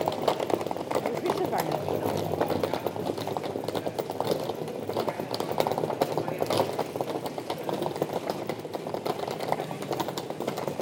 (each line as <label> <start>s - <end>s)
bicycles driving fast on the cobblestone 0.0s - 10.8s
suitcase, rolling on the cobblestones 0.0s - 10.8s
People discussing 0.9s - 8.0s